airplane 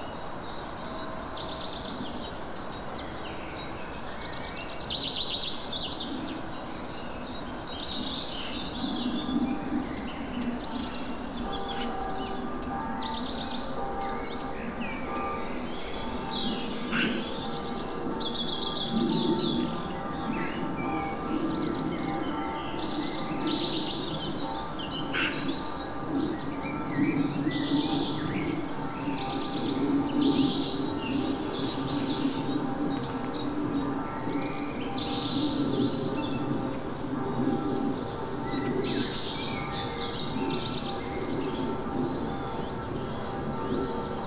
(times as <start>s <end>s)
14.6s 44.2s